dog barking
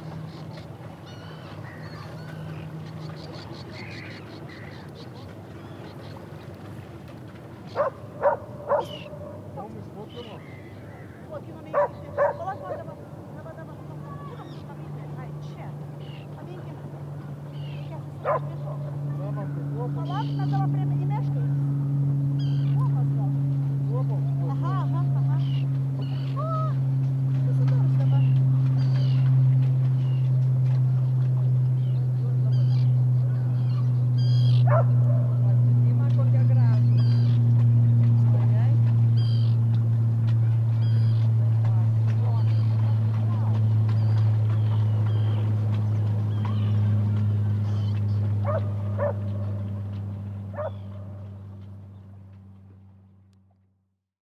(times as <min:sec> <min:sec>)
0:07.8 0:09.4, 0:11.7 0:12.9, 0:18.2 0:18.9, 0:34.6 0:35.3, 0:48.4 0:49.3, 0:50.5 0:50.8